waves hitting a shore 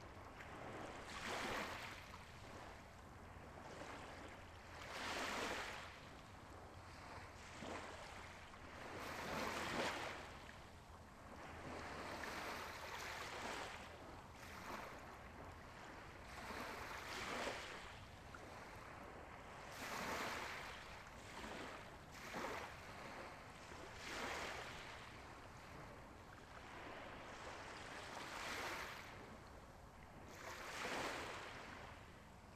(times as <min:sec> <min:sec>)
0:00.3 0:02.7, 0:19.7 0:25.8, 0:26.6 0:29.2